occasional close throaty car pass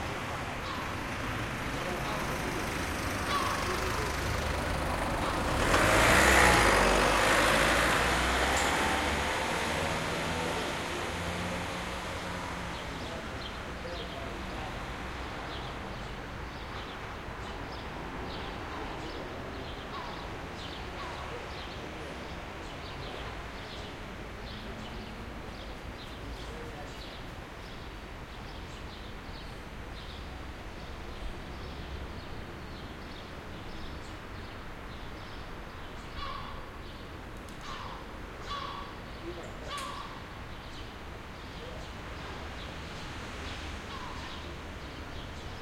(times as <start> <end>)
0.0 25.7